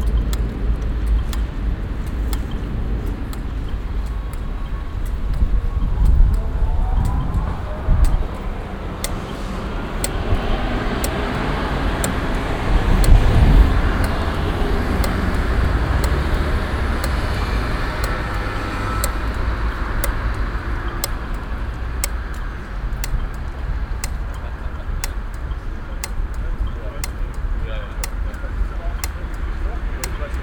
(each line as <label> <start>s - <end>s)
stereophones klicken im strassenverkehr 0.0s - 30.4s